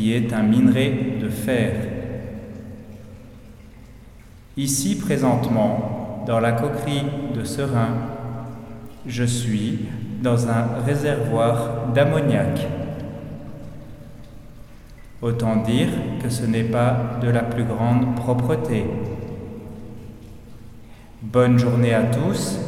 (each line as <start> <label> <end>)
0.0 I'm explaining 2.1
4.6 I'm explaining 8.2
9.0 I'm explaining 12.9
15.2 I'm explaining 19.2
21.2 I'm explaining 22.6